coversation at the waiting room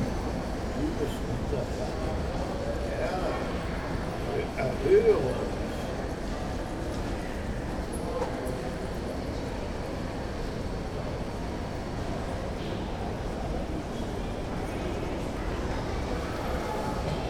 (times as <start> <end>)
0.0 10.1